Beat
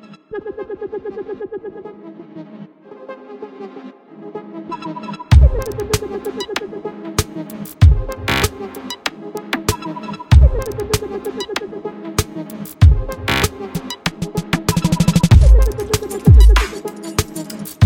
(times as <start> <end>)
5.3 17.8